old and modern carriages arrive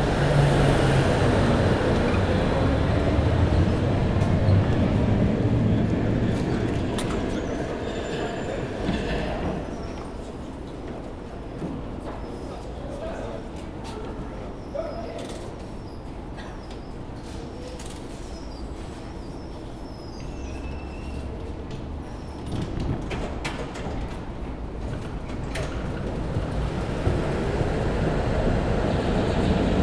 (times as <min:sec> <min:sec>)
0:20.5 0:29.8